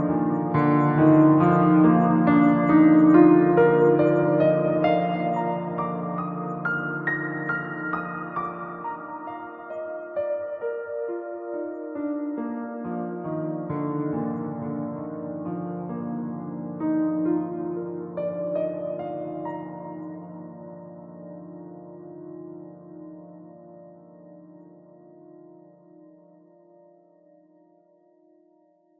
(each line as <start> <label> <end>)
0.0 piano 28.9